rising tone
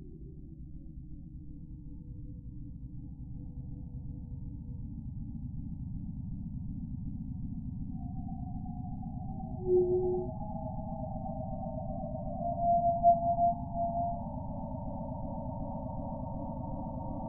9.6 10.3

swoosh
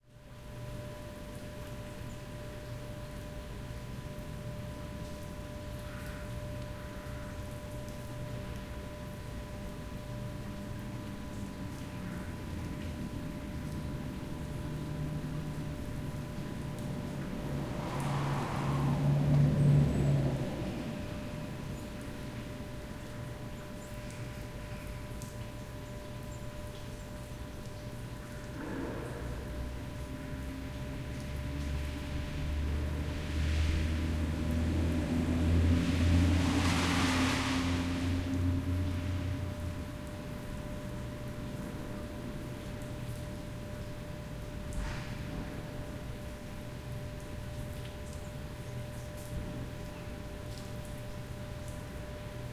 35.6 39.1

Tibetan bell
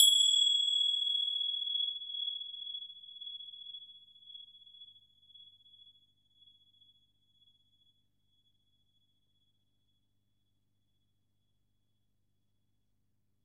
0.0 2.1

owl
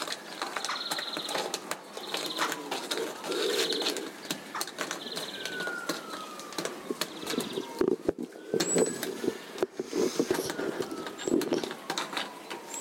0.6 6.2

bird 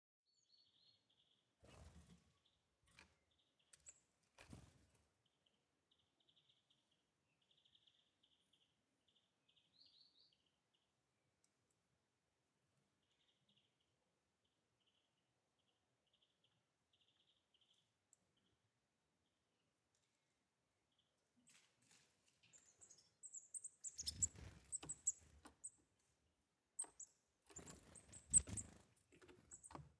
0.4 10.8, 20.9 25.9, 26.8 29.9

